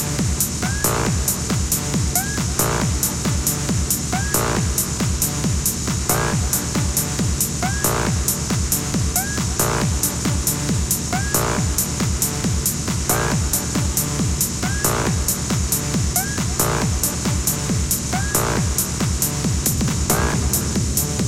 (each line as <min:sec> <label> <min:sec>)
0:00.0 club mix 0:21.2